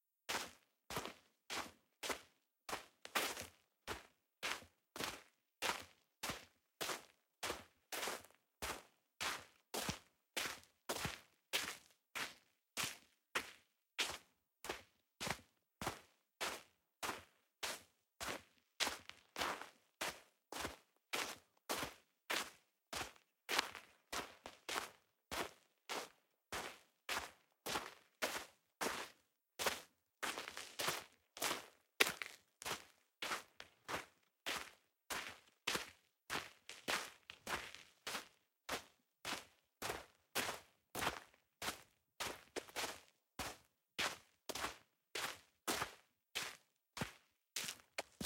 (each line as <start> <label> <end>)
0.3 footsteps-wet-sand 48.2